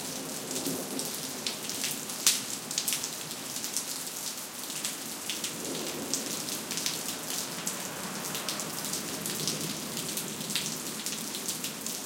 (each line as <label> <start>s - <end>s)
Raindrops falling on pavement 0.0s - 12.0s